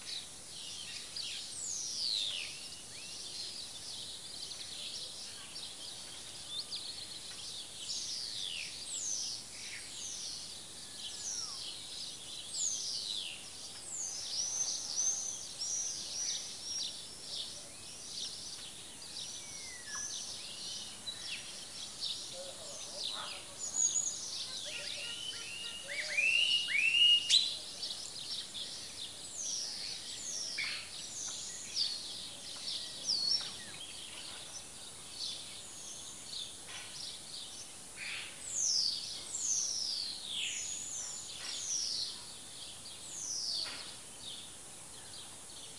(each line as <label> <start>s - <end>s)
greenfinches 0.0s - 45.7s
sparrows 0.0s - 45.7s
starlings 0.0s - 45.7s
Greetings from neighbors 22.4s - 26.4s